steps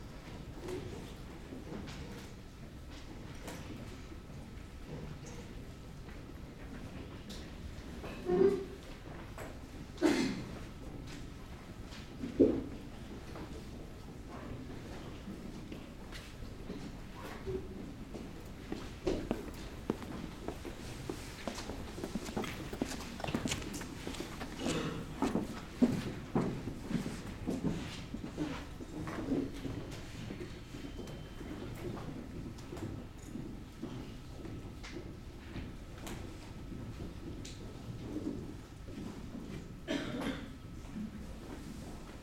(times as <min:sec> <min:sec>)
0:16.2 0:28.7